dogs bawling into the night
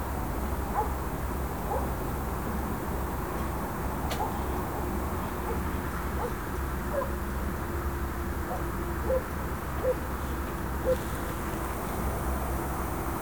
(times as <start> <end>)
0.6 2.3